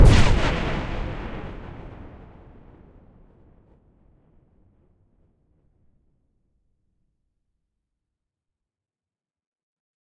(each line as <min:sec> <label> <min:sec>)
0:00.0 synthetic explosion sound 0:04.2